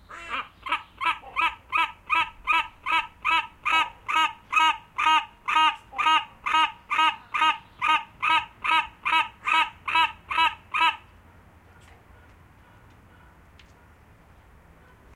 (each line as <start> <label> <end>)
0.0 call of the Black Casqued Hornbill 11.1